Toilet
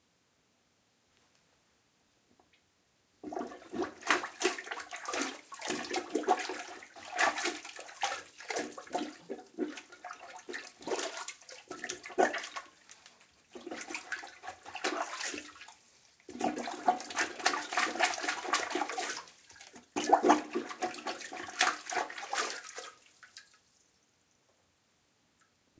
3.2 23.6

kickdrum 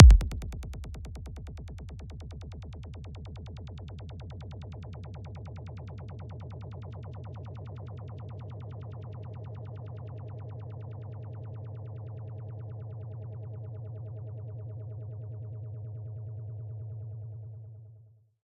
0.0 0.8

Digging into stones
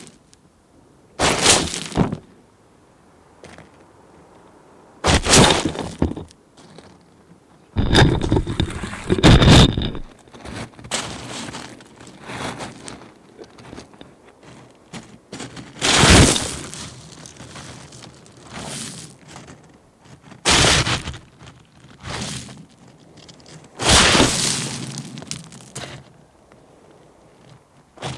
1.2 2.2, 5.0 6.8, 7.8 26.1

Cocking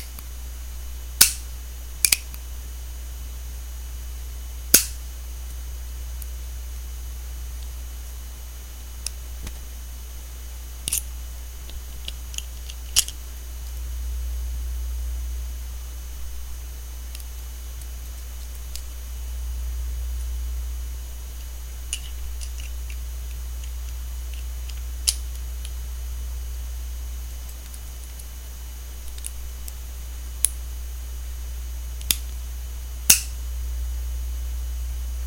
33.1 33.3

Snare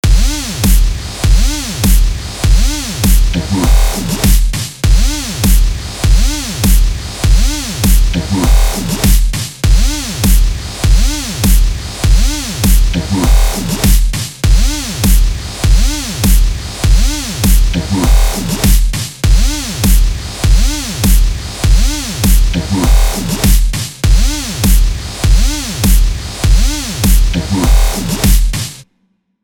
0.2 5.6, 7.4 10.4, 12.2 15.2, 18.4 20.0, 21.8 24.8, 26.6 28.8

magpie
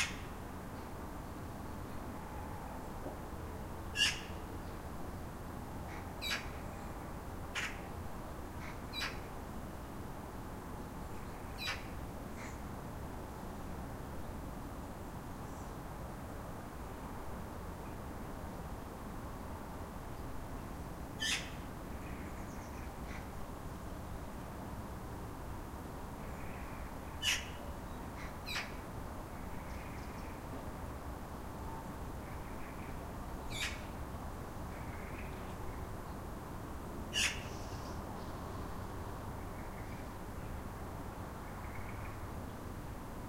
4.0 4.4, 11.6 12.6, 21.2 21.6, 26.4 27.6, 37.1 37.6

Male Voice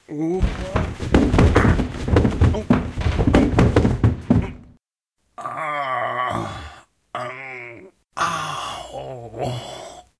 0.0 1.0

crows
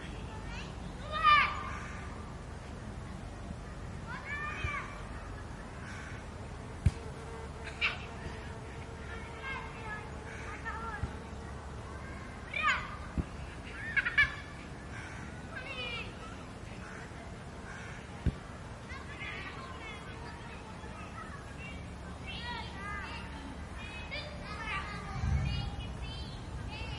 5.8 6.2, 14.9 15.4, 17.7 18.1

